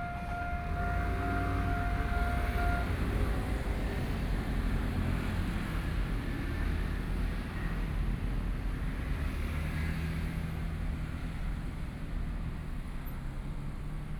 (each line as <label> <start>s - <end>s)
Trains traveling through 0.0s - 5.1s
Traffic Sound 0.0s - 14.1s